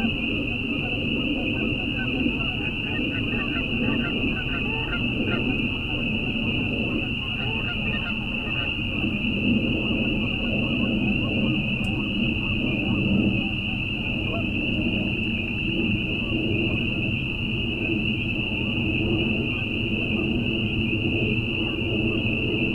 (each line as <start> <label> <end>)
0.0 Canada Geese 14.8
0.0 Jet flies overhead 22.7
0.0 Peepers 22.7